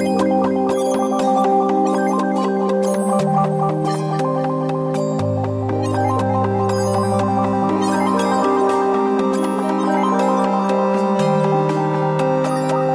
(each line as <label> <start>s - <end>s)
synth 0.0s - 12.9s